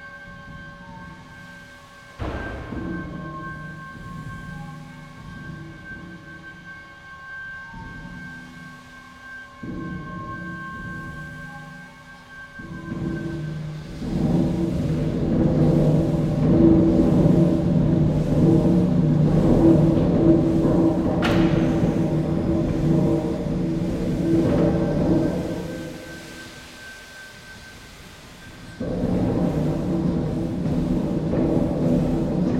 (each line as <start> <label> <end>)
9.6 steam engine 32.5